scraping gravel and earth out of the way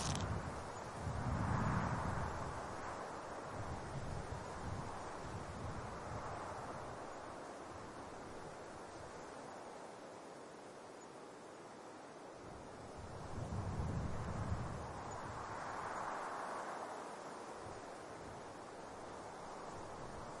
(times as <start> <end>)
0.0 0.4